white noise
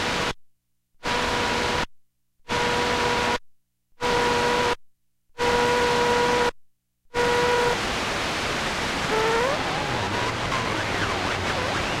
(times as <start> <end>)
0.0 0.4, 7.2 12.0